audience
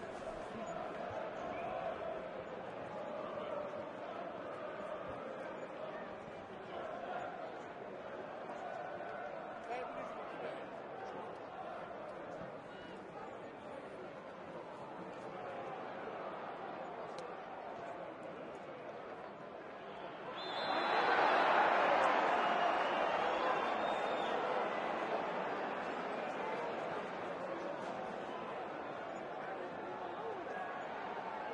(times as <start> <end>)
14.7 31.5